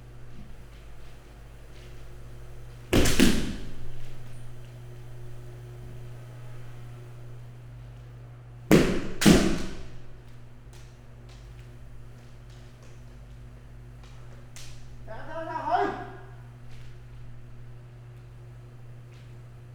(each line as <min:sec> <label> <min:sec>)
0:08.7 bamboo swords 0:10.0